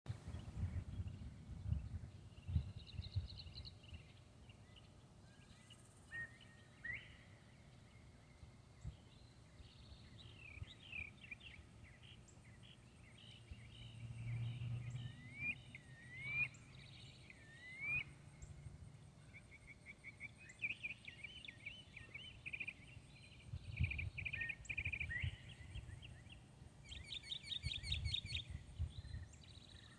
Northern Cardinal 0:00.1 - 0:29.9
Northern Mockingbird 0:08.8 - 0:18.6
Insects 0:10.4 - 0:29.9
Northern Mockingbird 0:19.3 - 0:29.9

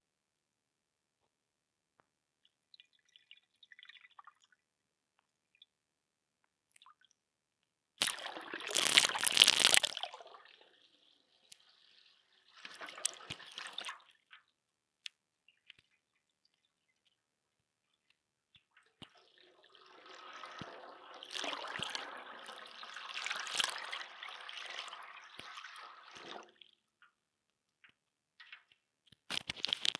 splash 0:08.0 - 0:10.0
splash 0:23.3 - 0:23.9

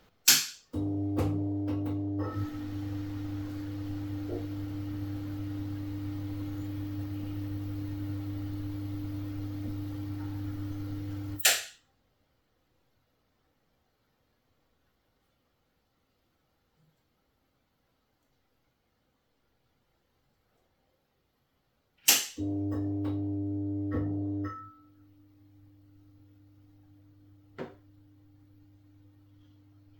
old fluorescent light switching on, humming, and switching off 0:00.3 - 0:11.6
old fluorescent light switching on, humming, and switching off 0:22.1 - 0:29.9

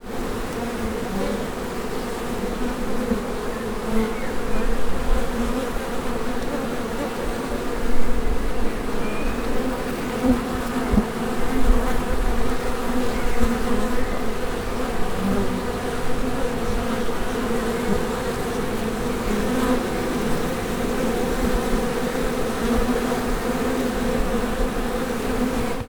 swarm of bees 0:00.0 - 0:25.9
birds in the background 0:03.2 - 0:05.0
birds in the background 0:08.6 - 0:11.0
birds in the background 0:12.7 - 0:14.8

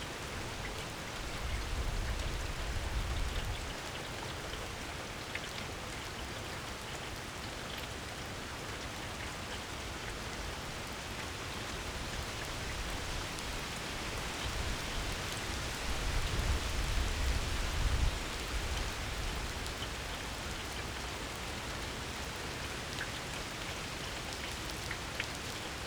Heavy Rain Downpour 0:00.0 - 0:25.8

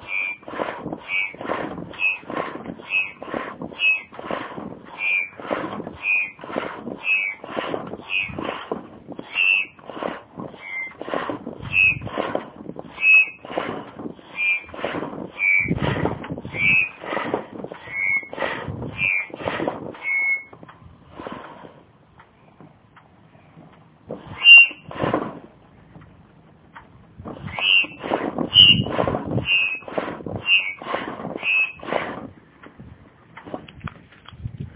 air just came out again with an interesting sound 0:00.0 - 0:21.9
Foot pumping a dingy without the necessary O ring 0:00.0 - 0:34.7

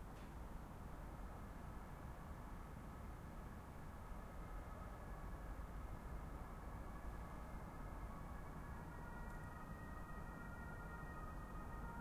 train 0:00.0 - 0:10.2
traffic 0:00.0 - 0:12.0
ambulance on the distance 0:02.2 - 0:12.0

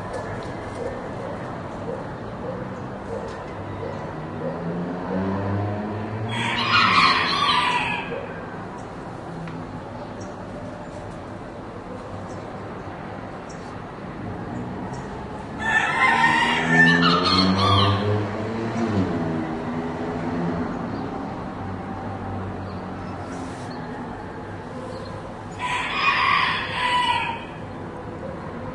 Soft traffic noise 0:00.0 - 0:28.7
Two roosters crowing 0:06.3 - 0:08.4
Two roosters crowing 0:15.6 - 0:18.2
Two roosters crowing 0:25.5 - 0:27.8

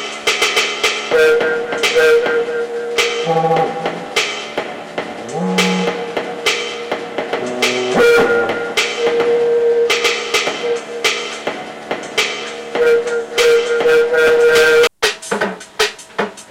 beat 0:00.0 - 0:16.5
synth 0:01.1 - 0:14.0

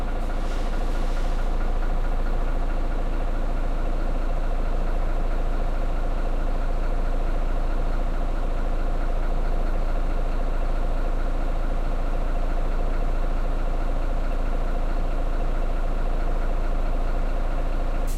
bus engine running inside 0:00.0 - 0:18.1

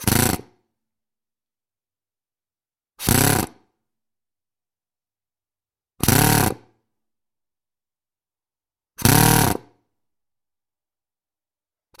pneumatic drill started four times 0:00.0 - 0:00.6
pneumatic drill started four times 0:03.0 - 0:03.8
pneumatic drill started four times 0:06.0 - 0:06.8
pneumatic drill started four times 0:09.0 - 0:09.8

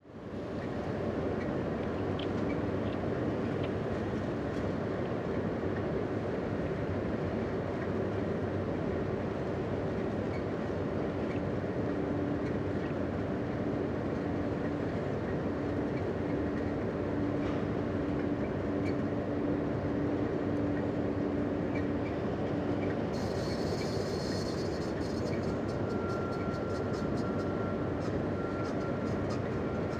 engine 0:00.0 - 0:29.9
conveyor belt 0:00.6 - 0:29.9

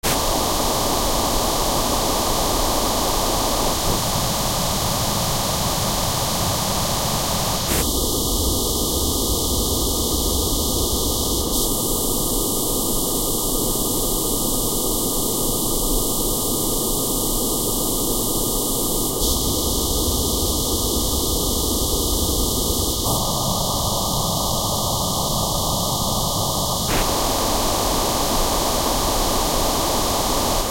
static 0:00.0 - 0:07.9
static 0:11.0 - 0:30.7

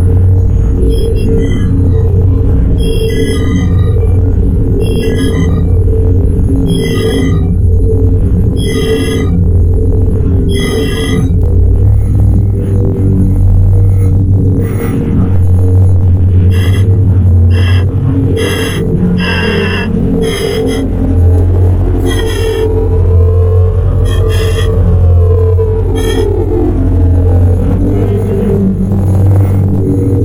glitchy squelchy hi-tech sounds 0:00.0 - 0:28.4
hum 0:00.0 - 0:30.2

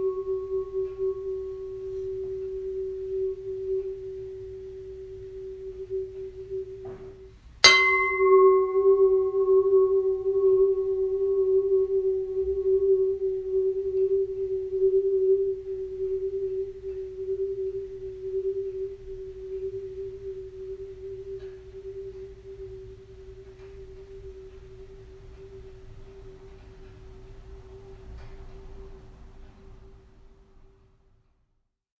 Knocking a pan lid producing a long sustain 0:05.8 - 0:19.0

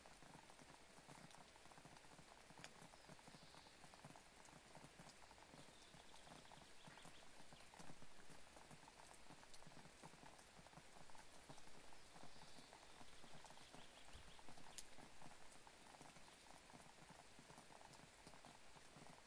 rain 0:00.0 - 0:19.2

